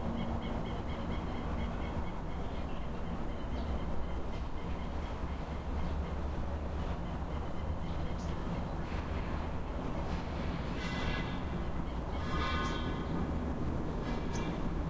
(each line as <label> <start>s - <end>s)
birds 0.0s - 13.3s
building of scaffolding 8.8s - 14.8s
birds 14.1s - 14.8s